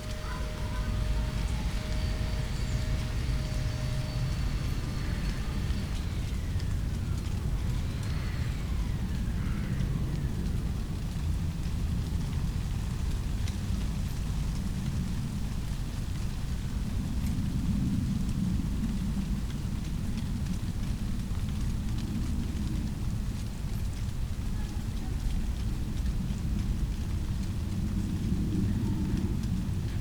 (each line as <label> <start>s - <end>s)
do-it-yourselfer in the distance 0.0s - 10.6s
plane crossing the sky 0.0s - 11.0s
dry leaves of a bush rustling in the wind 0.0s - 30.0s